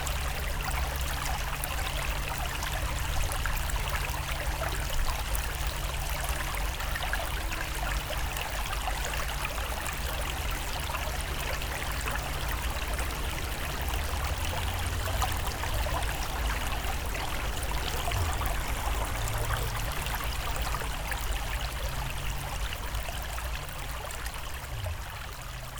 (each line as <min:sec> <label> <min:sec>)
0:00.0 Small river 0:25.7